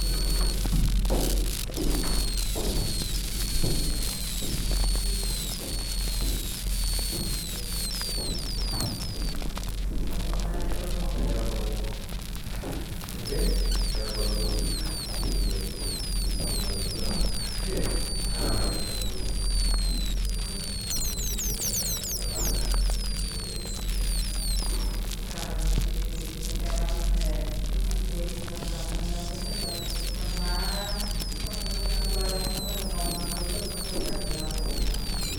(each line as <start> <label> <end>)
0.1 gas and foam escapes around the wooden plug 9.9
12.4 gas and foam escapes around the wooden plug 25.3